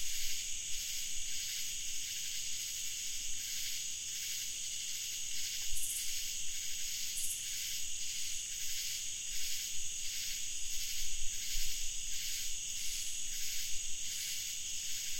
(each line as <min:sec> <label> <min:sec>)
0:00.0 cicadas 0:15.1
0:00.0 crickets 0:15.1